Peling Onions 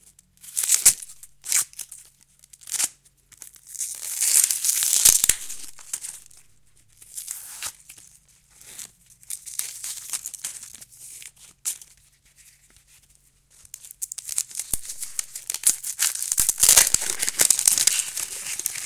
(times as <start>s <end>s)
3.9s 6.4s, 13.8s 18.8s